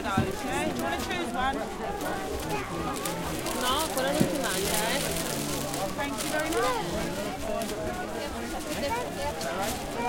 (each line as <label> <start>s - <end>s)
crowd 0.0s - 10.0s